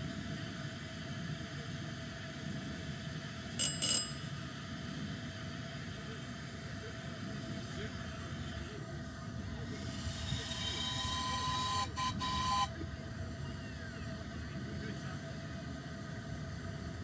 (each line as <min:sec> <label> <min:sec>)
0:03.6 tiny bell signals for trains to go 0:04.3
0:05.0 Miniature steam trains 0:17.0